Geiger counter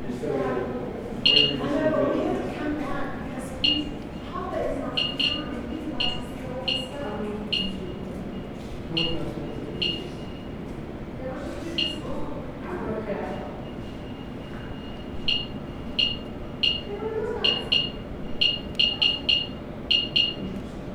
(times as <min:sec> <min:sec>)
0:01.2 0:01.7, 0:03.6 0:04.0, 0:04.9 0:07.9, 0:09.8 0:10.0, 0:11.8 0:12.1, 0:15.3 0:20.5